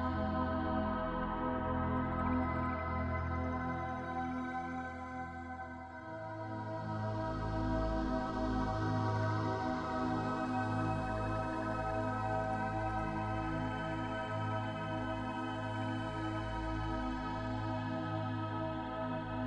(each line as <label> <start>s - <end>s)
synthesizer 0.0s - 19.4s